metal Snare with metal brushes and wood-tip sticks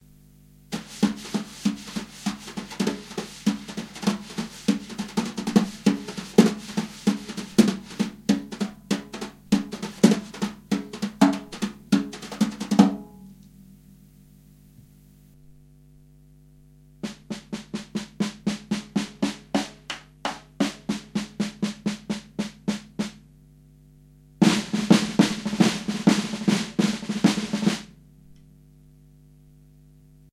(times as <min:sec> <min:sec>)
0:00.7 0:13.6